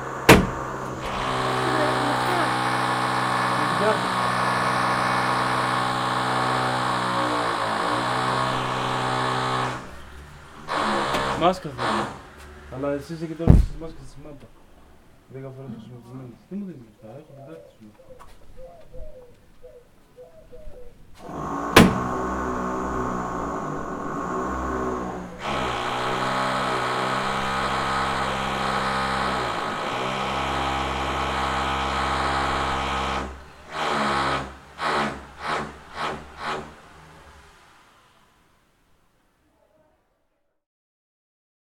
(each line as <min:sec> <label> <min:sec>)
0:00.0 House renovation 0:14.8
0:21.2 House renovation 0:37.9